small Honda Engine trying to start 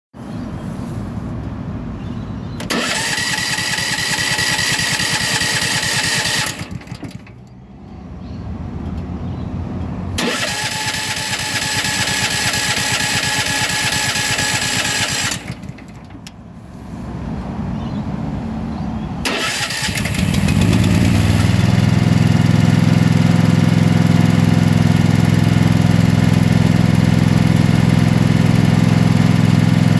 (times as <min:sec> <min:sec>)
0:02.6 0:07.5, 0:10.2 0:16.3, 0:19.2 0:29.9